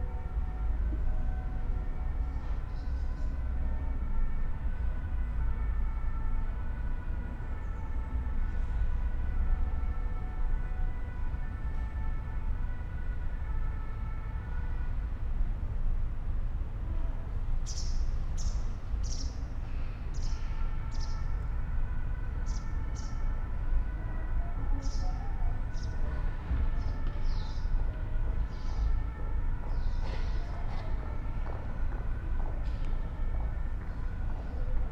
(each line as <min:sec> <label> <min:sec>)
0:17.7 bird 0:19.4
0:24.7 bird 0:26.0